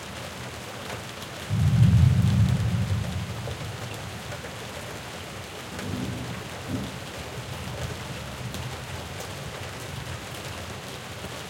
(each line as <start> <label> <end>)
0.0 Rain 11.4
1.5 thunder 3.5
5.8 thunder 7.0